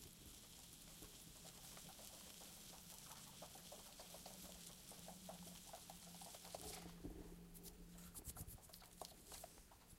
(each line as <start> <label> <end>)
0.0 Superworms squirming in a box with fine sand 7.0